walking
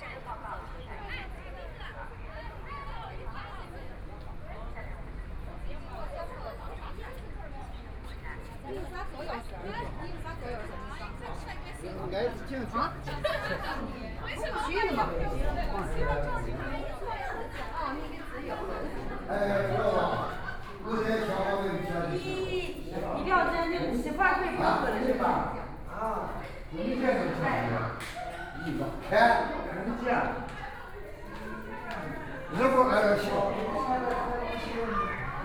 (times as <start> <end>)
26.1 35.4